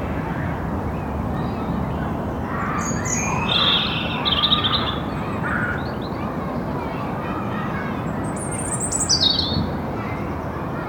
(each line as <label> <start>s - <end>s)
children playing 0.0s - 10.8s
bird song 0.8s - 6.7s
bird song 8.0s - 9.7s